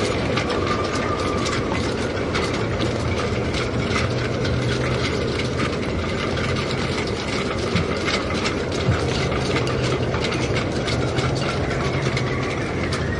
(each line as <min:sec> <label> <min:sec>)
0:00.0 shrouds clattering in the wind 0:13.1